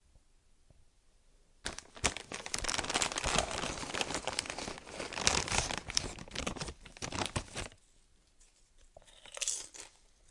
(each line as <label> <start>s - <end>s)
Reaching into a bag of chips 1.7s - 7.8s